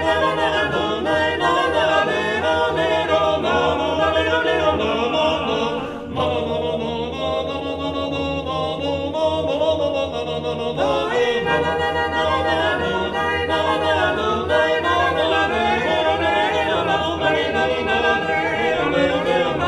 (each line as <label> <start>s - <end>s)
five-voices chant, without instruments 0.0s - 19.6s